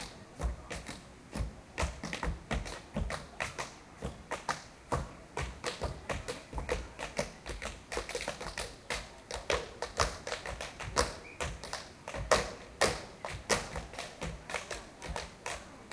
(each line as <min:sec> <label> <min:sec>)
0:00.0 tap dance 0:15.9